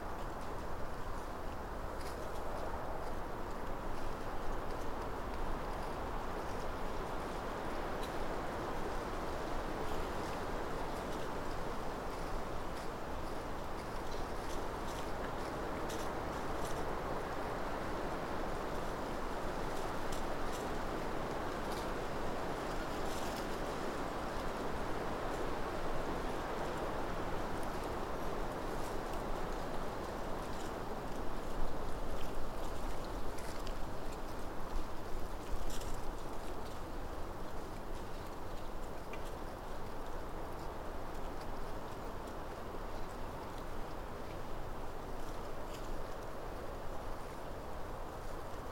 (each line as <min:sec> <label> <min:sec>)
0:00.0 creaking of trees in the breeze 0:48.7
0:00.0 movement of the woodland canopy in the wind 0:48.7
0:00.0 rustles of small animals nearby 0:48.7